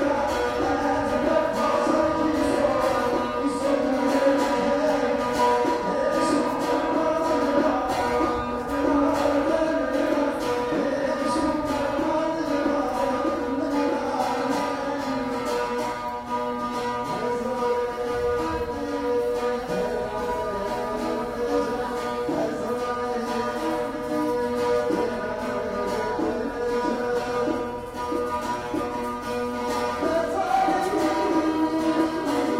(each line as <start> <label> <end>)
0.0 street musican 32.5